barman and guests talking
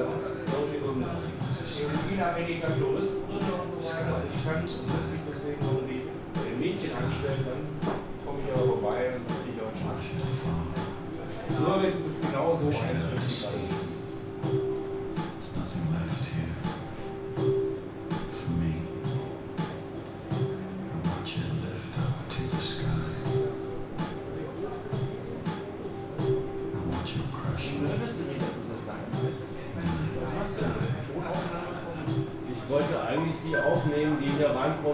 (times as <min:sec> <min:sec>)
0:20.5 0:34.9